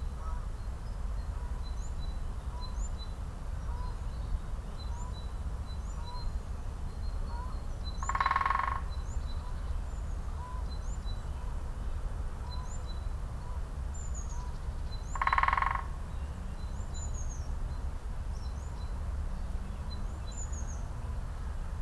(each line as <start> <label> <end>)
8.0 Great Spotted Woodpecker 8.9
15.2 Great Spotted Woodpecker 16.0